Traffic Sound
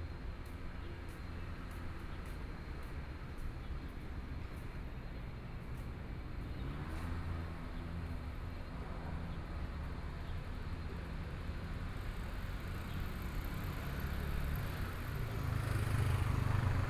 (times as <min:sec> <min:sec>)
0:12.6 0:16.8